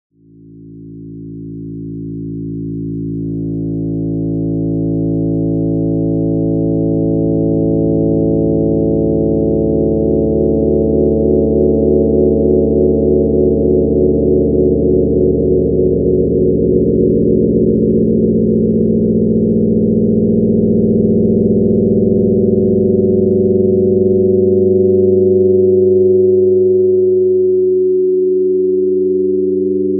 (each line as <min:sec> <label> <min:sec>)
0:02.0 dark heavy pads 0:27.3